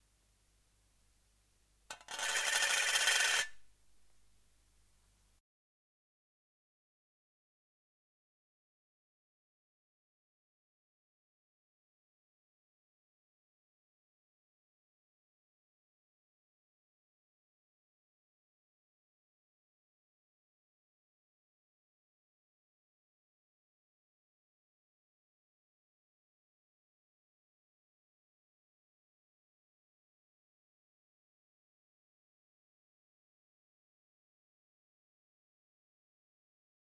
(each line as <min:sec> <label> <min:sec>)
0:01.9 Coin in Tin 0:03.6